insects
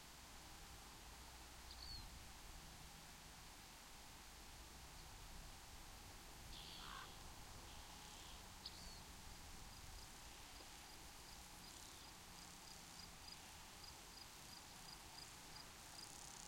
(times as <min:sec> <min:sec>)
0:06.5 0:16.4